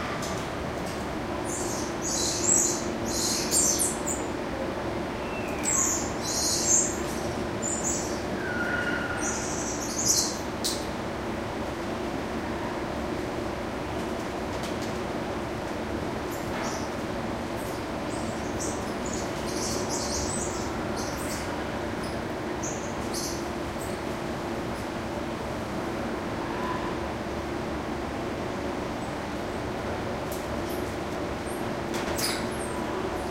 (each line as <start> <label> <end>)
5.3 Squirrel monkeys calling and moving around 10.9
31.5 Squirrel monkeys calling and moving around 32.8